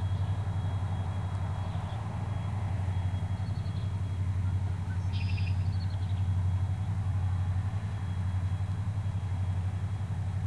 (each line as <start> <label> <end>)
0.0 river 10.4
0.0 thrumming of the giant diesel engines 10.4
3.4 Red-Wing blackbird 6.2